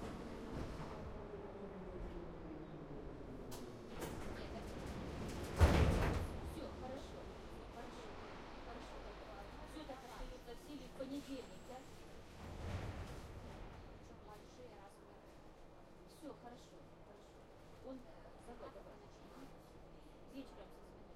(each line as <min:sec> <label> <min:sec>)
0:00.0 metro wagon 0:16.2